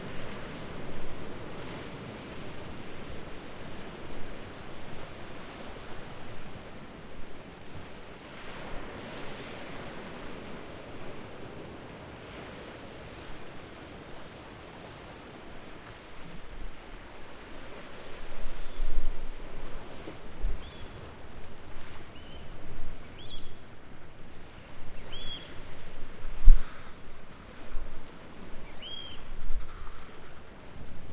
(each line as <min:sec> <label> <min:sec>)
0:00.0 sea 0:31.1
0:28.6 birds 0:30.5